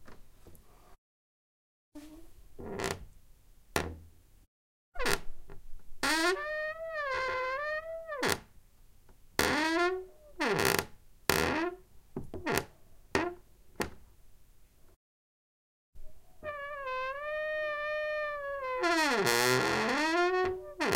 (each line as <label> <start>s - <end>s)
squeay creaking door 5.0s - 5.3s
squeay creaking door 6.0s - 8.4s
squeay creaking door 9.4s - 10.8s
squeay creaking door 16.4s - 20.9s